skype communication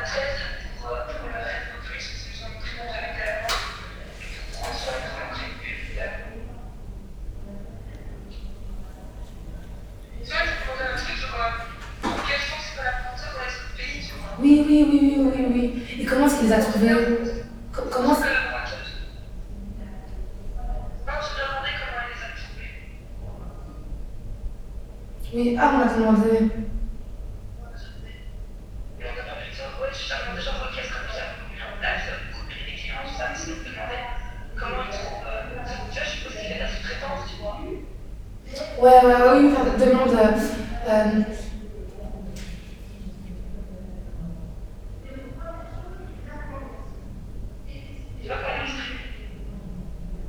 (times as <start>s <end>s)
0.0s 19.3s